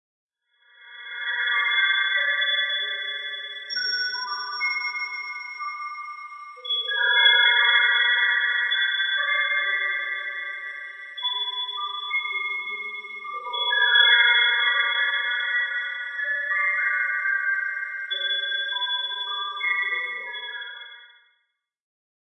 3.7s Wind Chimes 8.4s

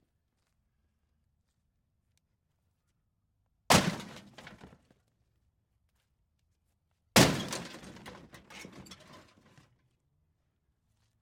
3.7s Hitting a broken metal dishwasher with a sledge-axe 4.7s
7.2s Hitting a broken metal dishwasher with a sledge-axe 9.2s

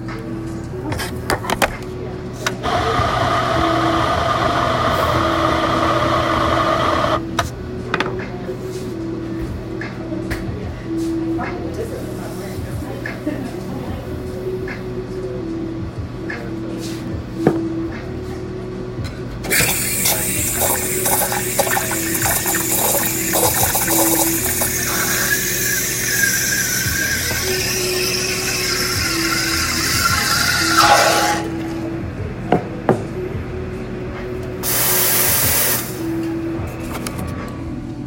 2.6s coffee grinder 7.2s
2.6s espresso machine 7.2s
19.5s coffee grinder 31.5s
19.5s espresso machine 31.5s

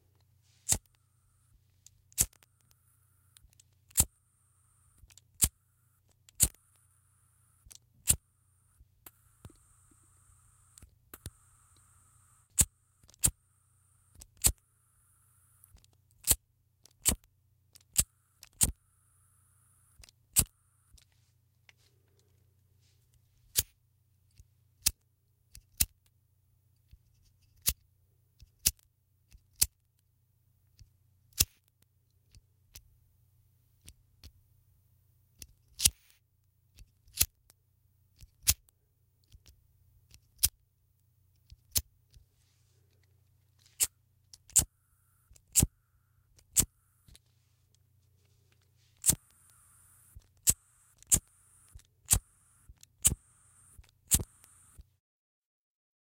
0.6s lighter burn gas flintstone flint 1.0s
2.1s lighter burn gas flintstone flint 2.8s
3.4s lighter burn gas flintstone flint 4.1s
6.3s lighter burn gas flintstone flint 6.6s
7.6s lighter burn gas flintstone flint 8.2s
43.8s lighter burn gas flintstone flint 44.7s
45.3s lighter burn gas flintstone flint 45.7s
46.3s lighter burn gas flintstone flint 46.7s
48.9s lighter burn gas flintstone flint 54.8s

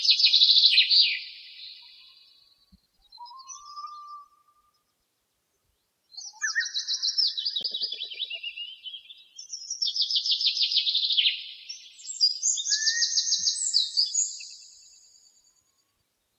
6.2s other bird 9.8s
6.2s finch 8.7s

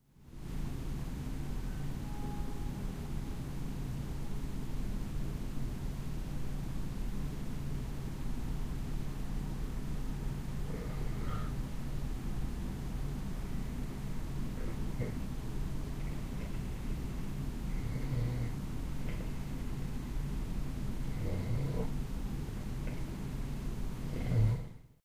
1.4s train is passing blowing it's horn 4.4s
10.7s breath 11.6s

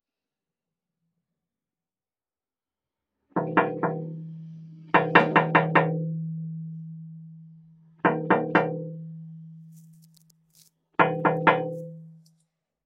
11.0s Knocking on the glass 11.9s

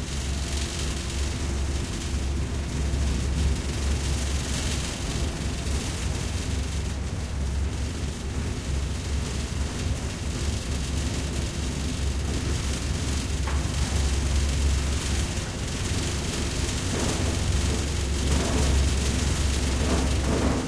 0.0s Riding an workers utility elevator 20.6s

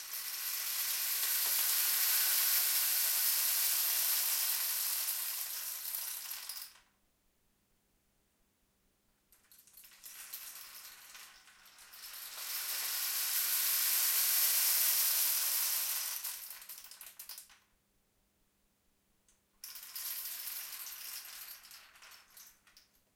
0.0s rainstick 6.6s

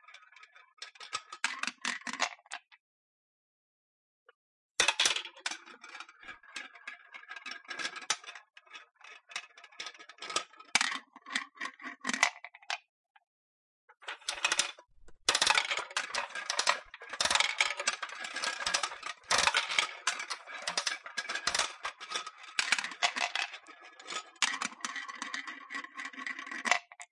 13.9s Using a bubblegum machine in various ways 23.4s

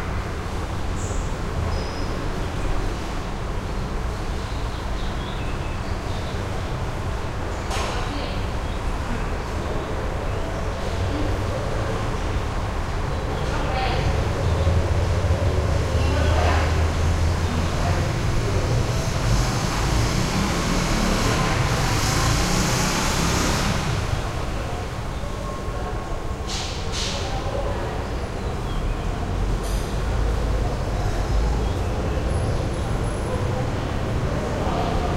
0.0s traffic 35.1s
6.2s voices 22.1s
23.8s voices 35.1s

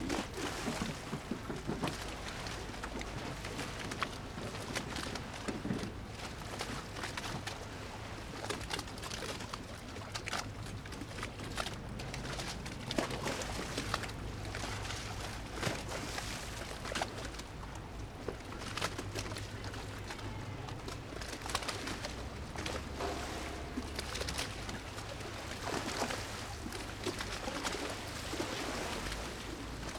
0.0s Small waves create splashes against gondolas 29.9s
19.4s shuttles make some low rumble 29.9s

